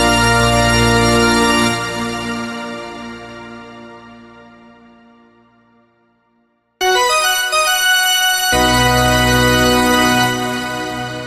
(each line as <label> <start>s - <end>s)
played by a pipe organ 0.0s - 4.8s
played by a pipe organ 6.8s - 11.2s